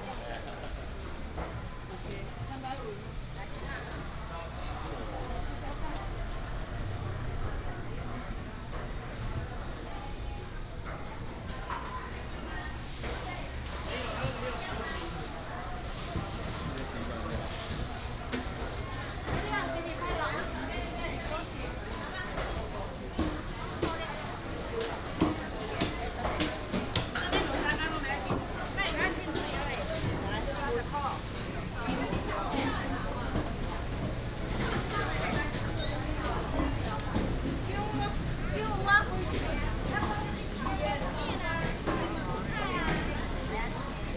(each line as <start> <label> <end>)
0.0 Walking in the traditional market 44.1